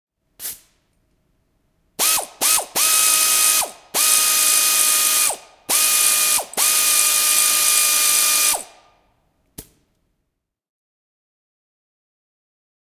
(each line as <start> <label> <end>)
2.0 ratchet 8.8